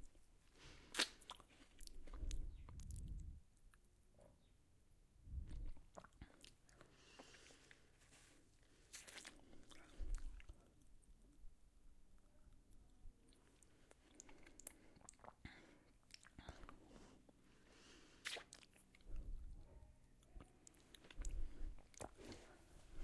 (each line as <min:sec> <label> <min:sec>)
0:12.2 Eating a chocolate coated ice cream 0:22.6